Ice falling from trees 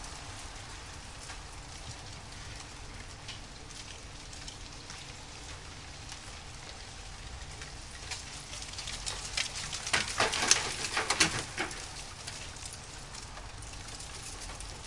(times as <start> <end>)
7.5 14.8